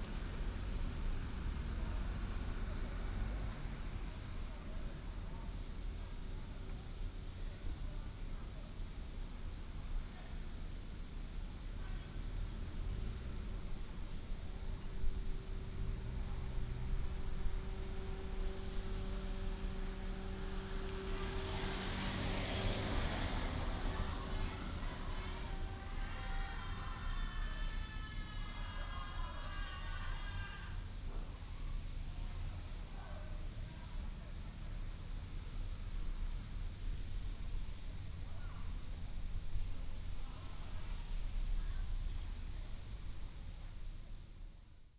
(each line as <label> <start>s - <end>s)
Traffic sound 0.0s - 5.9s
Traffic sound 10.9s - 32.9s
Tourists 13.4s - 28.4s